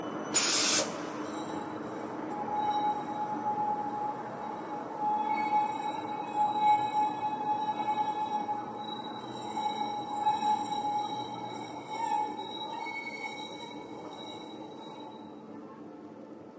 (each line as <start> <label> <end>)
0.8 tram marching 13.0